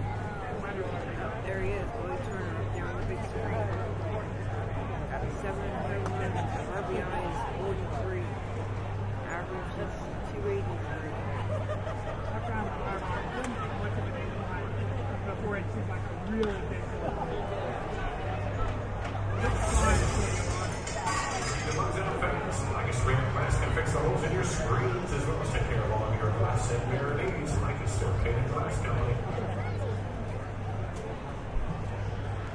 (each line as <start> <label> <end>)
0.0 chit-chat among the fans 32.5
20.1 recorded sound of glass breaking 22.0